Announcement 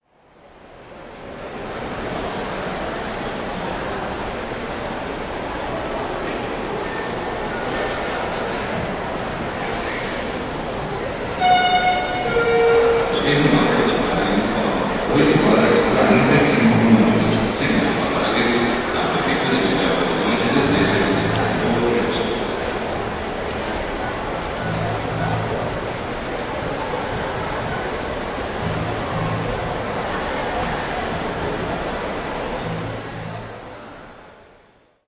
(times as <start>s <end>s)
11.3s 22.7s, 24.4s 31.8s